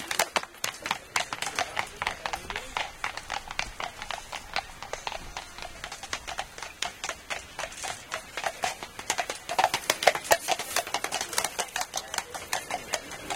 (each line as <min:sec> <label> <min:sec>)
0:00.0 Trampling horses on the road 0:13.3